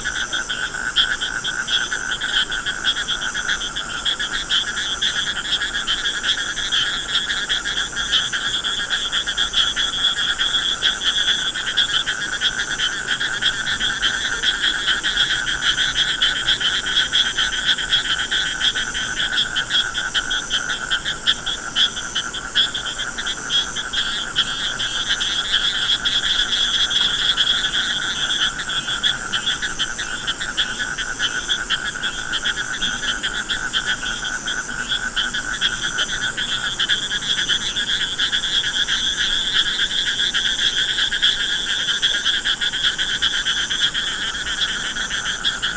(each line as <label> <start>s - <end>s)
frogs 0.0s - 45.7s